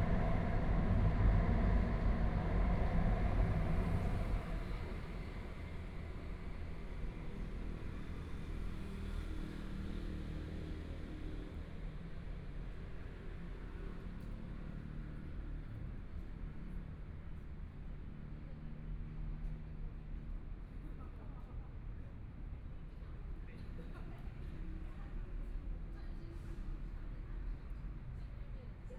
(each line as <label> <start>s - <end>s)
Traffic Sound 0.0s - 6.0s
trains 0.0s - 28.9s